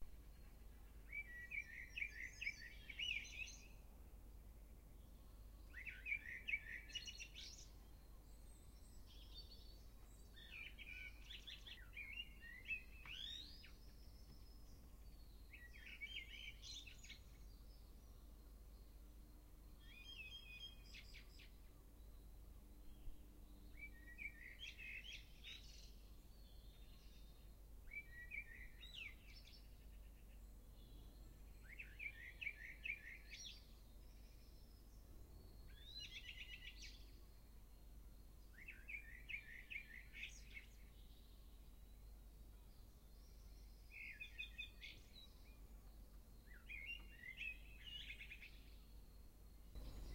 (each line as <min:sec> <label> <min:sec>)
0:00.0 nightingale 0:50.1
0:38.4 other birds 0:50.1